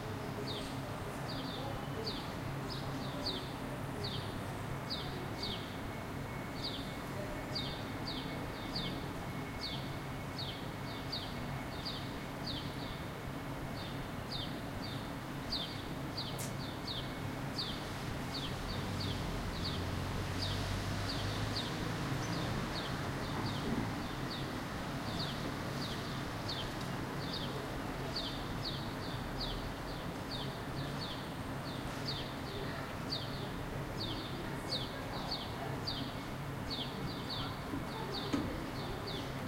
Birds 0.3 - 39.4
Cars 17.6 - 25.7
People 32.0 - 39.4

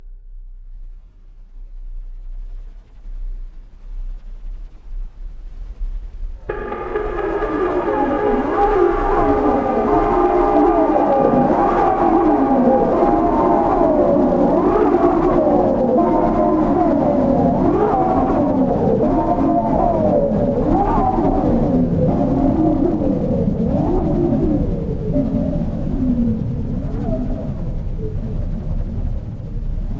drone 6.4 - 29.9
glitch 6.5 - 16.4
shimmer 6.5 - 16.7
howl 6.5 - 25.8

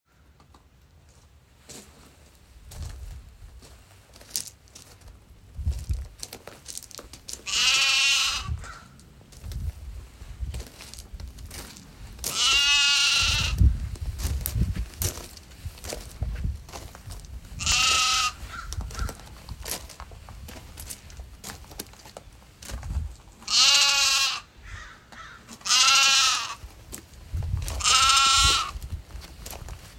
baby lamb 7.4 - 8.9
baby lamb 12.3 - 13.6
baby lamb 17.6 - 19.1
baby lamb 23.4 - 24.5
baby lamb 25.6 - 26.6
baby lamb 27.8 - 28.8

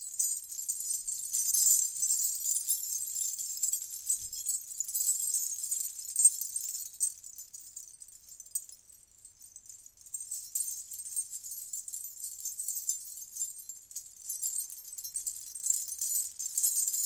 Gungroos Ankle Bells 0.0 - 17.0

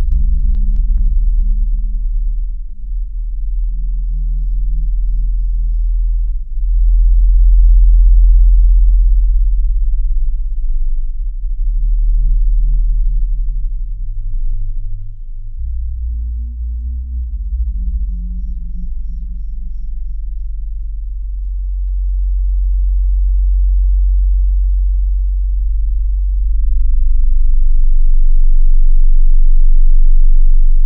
bassline 0.0 - 30.8

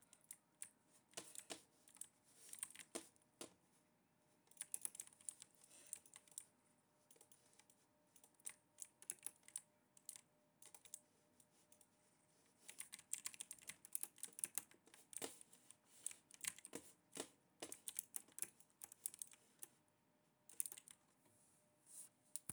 mouse movement 0.1 - 3.6
fast typing 1.2 - 3.1
mouse movement 12.6 - 19.7
fast typing 16.4 - 19.4

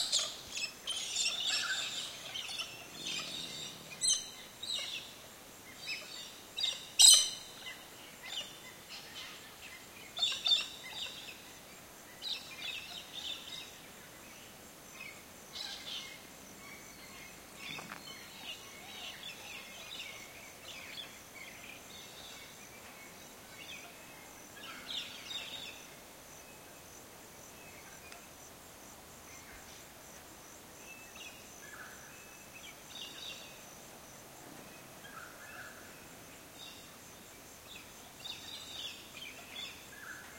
insects 0.0 - 40.3

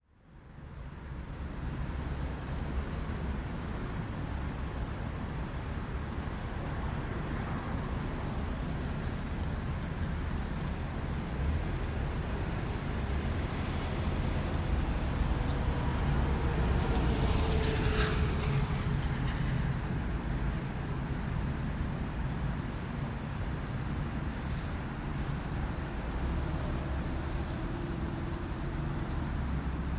buses 0.1 - 29.9
cars 0.2 - 29.9
trucks 0.3 - 29.9

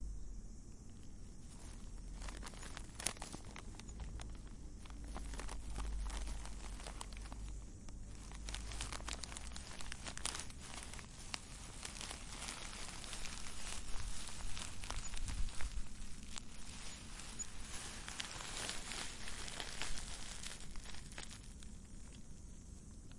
plastic wrapper paper crumple 1.4 - 22.4

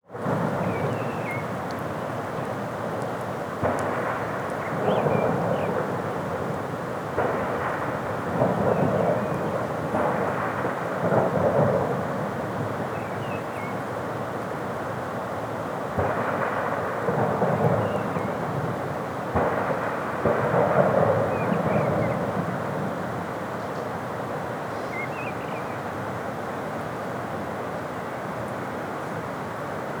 nearby birds 24.7 - 25.8

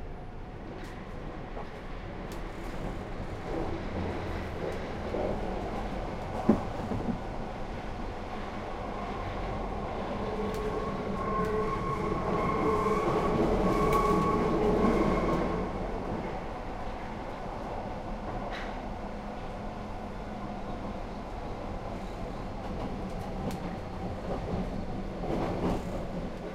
trains 0.0 - 26.5

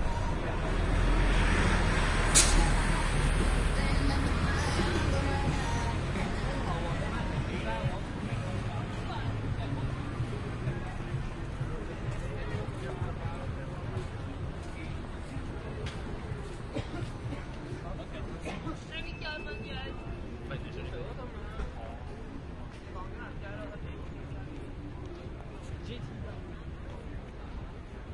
crowd 0.0 - 28.1
traffic 0.0 - 28.1

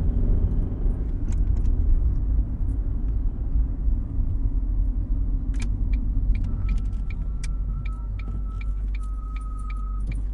car engine 0.0 - 10.3

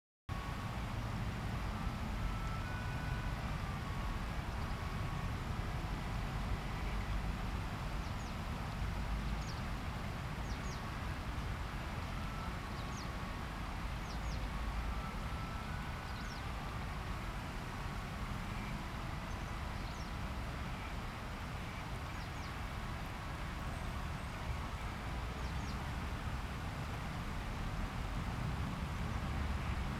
distant morning traffic 0.3 - 29.9
river 0.3 - 29.9
occasional birdsongs 8.0 - 8.4
occasional birdsongs 9.2 - 9.7
occasional birdsongs 12.7 - 13.2
occasional birdsongs 14.0 - 16.5
occasional birdsongs 18.6 - 20.2
occasional birdsongs 23.6 - 25.9

